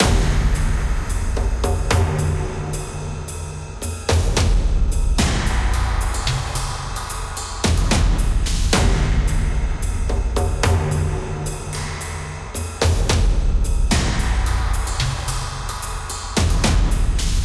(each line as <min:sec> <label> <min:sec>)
0:00.0 Action Percussion Ensemble 0:17.4